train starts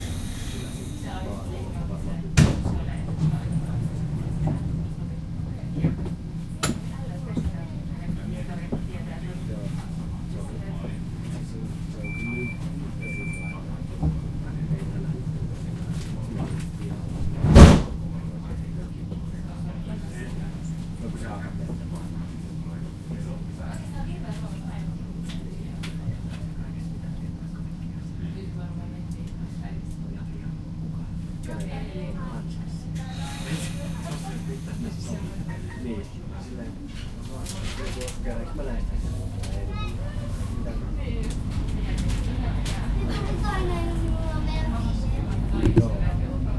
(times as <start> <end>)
0.0 1.5